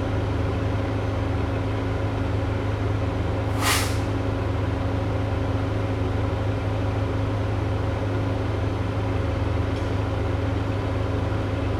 trucks 0:00.0 - 0:11.7

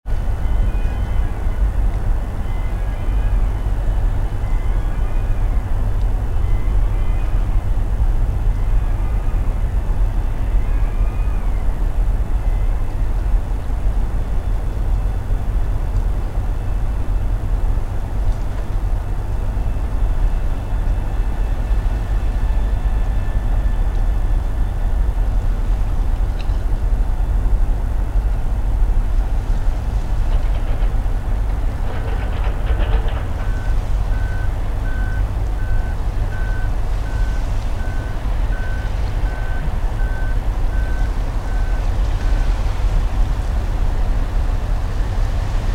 unloading cargo ships 0:27.4 - 0:43.3

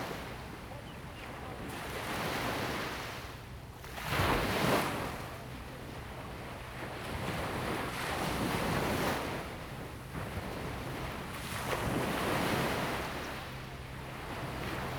waves 0:00.0 - 0:14.9

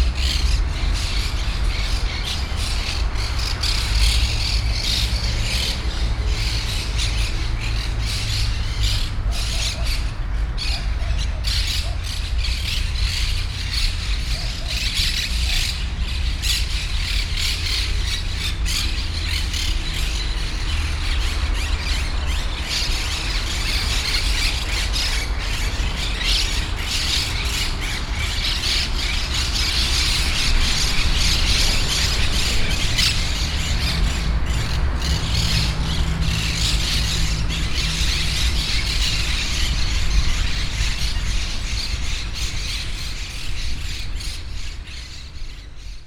Parakeets 0:00.0 - 0:46.0

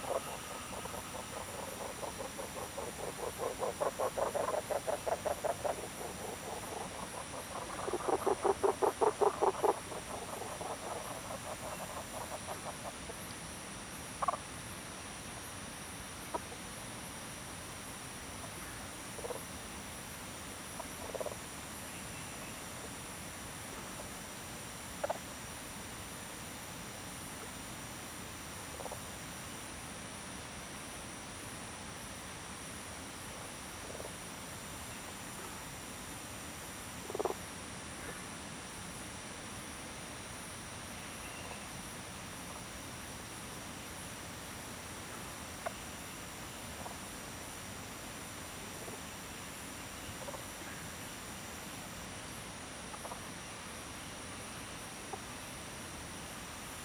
Frog Sound 0:00.0 - 0:13.3
Stream 0:00.0 - 0:56.8
Frog Sound 0:14.0 - 0:14.5
Frog Sound 0:16.2 - 0:16.6
Frog Sound 0:18.4 - 0:19.6
Frog Sound 0:20.6 - 0:21.5
Frog Sound 0:24.9 - 0:25.4
Frog Sound 0:28.7 - 0:29.2
Frog Sound 0:33.3 - 0:35.6
Frog Sound 0:37.0 - 0:38.3
Frog Sound 0:45.0 - 0:47.2
Frog Sound 0:50.1 - 0:50.9
Frog Sound 0:52.9 - 0:53.4

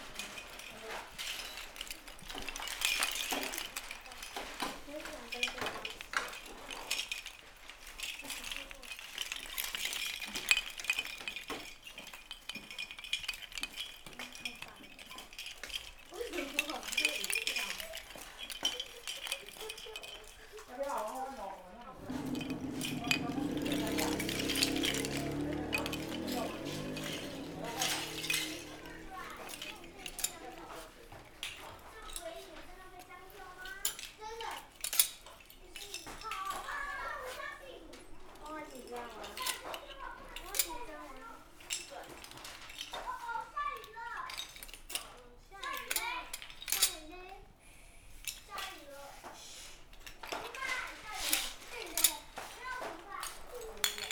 Children's sound 0:21.8 - 0:31.0
Traffic Sound 0:21.9 - 0:30.7

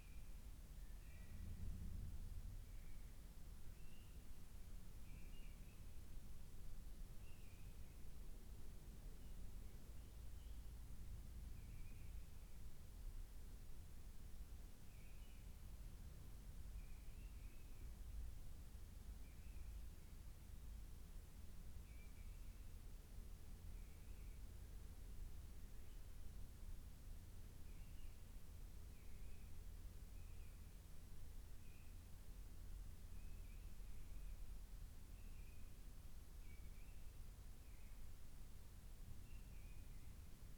mistle thrush singing outside 0:03.7 - 0:04.3
mistle thrush singing outside 0:05.0 - 0:06.0
mistle thrush singing outside 0:27.6 - 0:30.8
mistle thrush singing outside 0:31.6 - 0:32.1
mistle thrush singing outside 0:32.9 - 0:38.1
mistle thrush singing outside 0:39.1 - 0:40.4

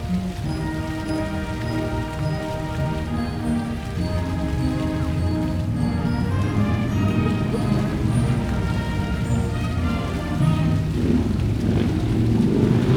band medley near fountain 0:00.0 - 0:12.9

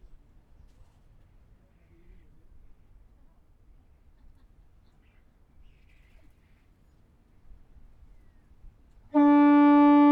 Foghorn 0:09.1 - 0:10.1

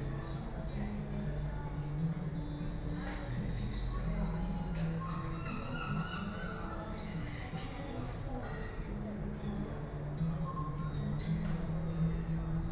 voices 0:03.2 - 0:12.7

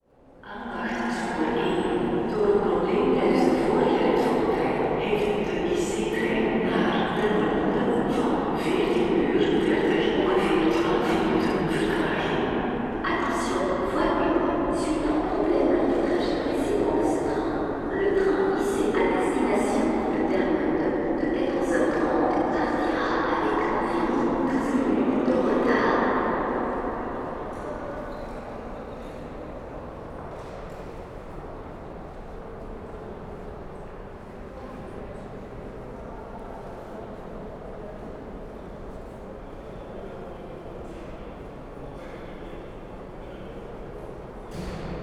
announcements 0:00.4 - 0:27.0

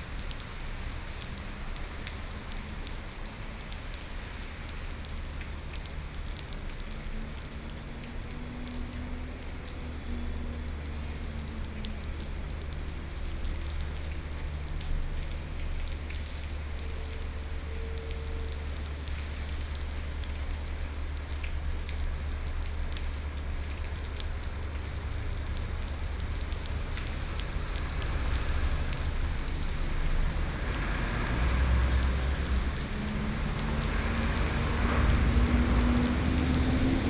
Rainy Day 0:00.0 - 0:37.0
traffic soundst 0:00.0 - 0:37.0

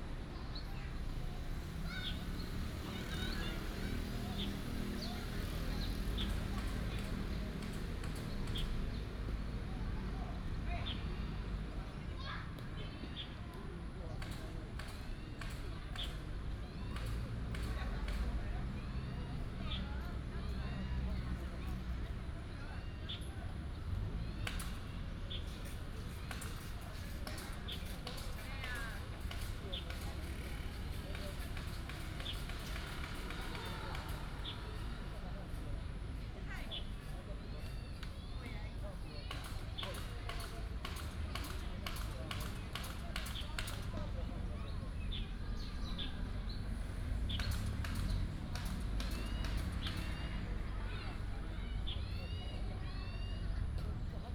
Traffic sound 0:00.0 - 0:54.3
birds sound 0:00.2 - 0:54.3

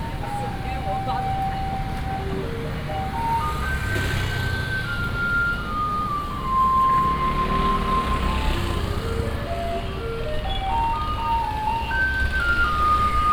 traffic sound 0:00.0 - 0:13.3
vendors peddling 0:00.0 - 0:13.3
walking in the traditional market 0:00.0 - 0:13.3

